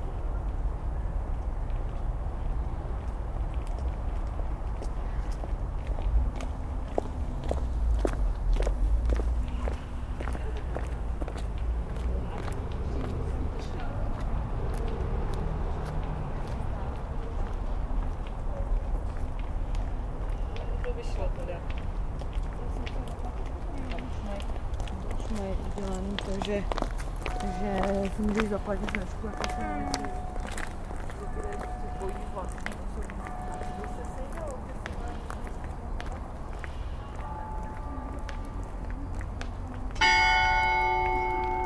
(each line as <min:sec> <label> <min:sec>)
0:39.9 strikes the hour 0:41.6